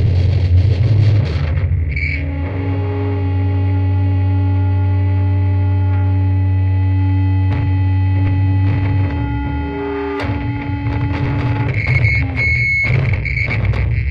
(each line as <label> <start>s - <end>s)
feedback 0.0s - 14.1s
Smashing guitars 7.5s - 14.1s